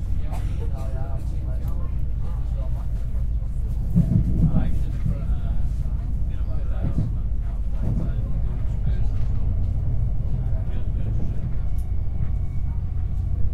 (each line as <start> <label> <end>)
0.0 Train pulls up from a station 13.5
0.0 people speak 13.5
0.0 people walk in and out 13.5
0.2 People cough 1.3